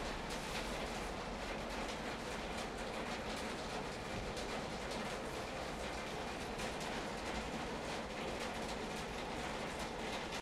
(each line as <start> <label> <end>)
0.0 Gentle rain on metal roof 10.4